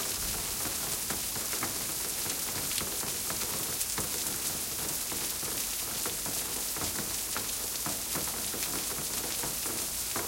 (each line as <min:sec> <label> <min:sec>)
0:00.0 Heavy rain 0:10.2